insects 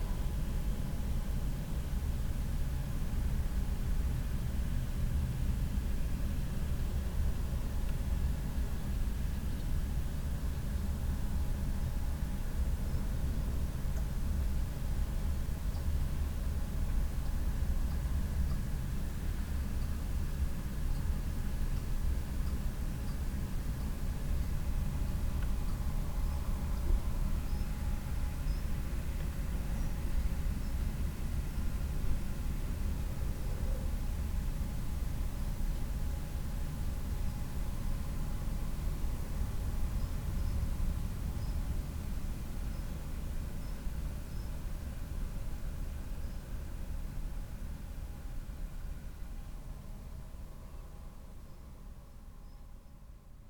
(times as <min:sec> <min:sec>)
0:22.9 0:32.7, 0:38.4 0:48.2